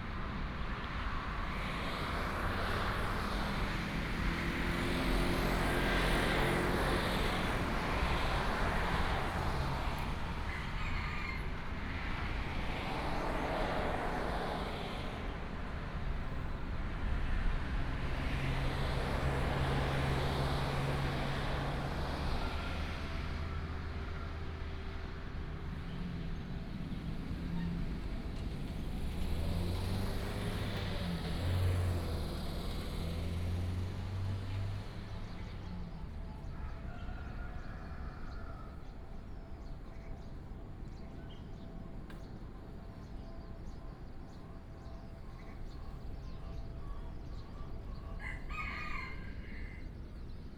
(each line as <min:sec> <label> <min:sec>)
0:00.0 Traffic sound 0:50.5
0:48.2 Chicken crowing 0:49.9